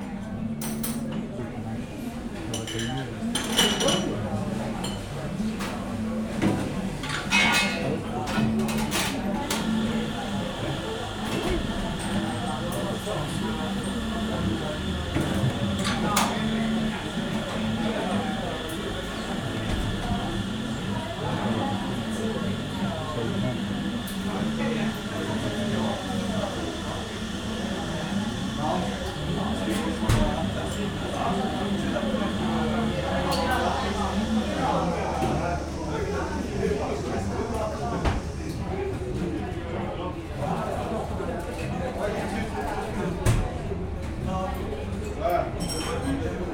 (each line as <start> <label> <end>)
2.3 barman making some coffee 44.2